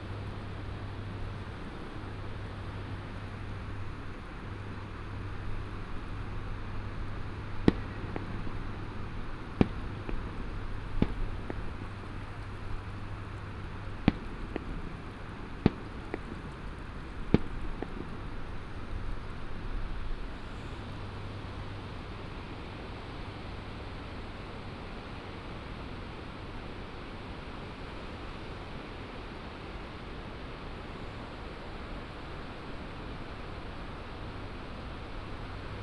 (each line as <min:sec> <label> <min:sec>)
0:00.0 Fireworks 0:23.4
0:00.0 firecrackers 0:24.0